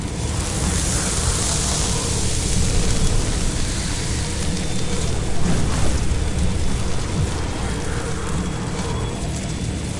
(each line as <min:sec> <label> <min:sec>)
0:00.0 flaming energy sound 0:09.9